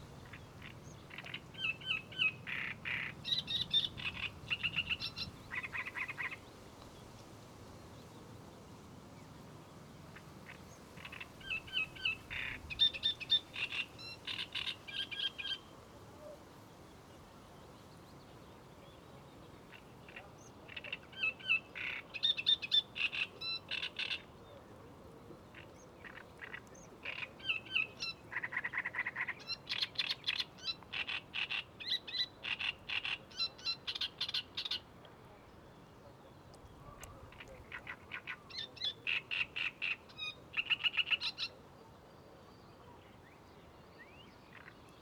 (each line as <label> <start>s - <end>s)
sedge warbler 0.2s - 6.4s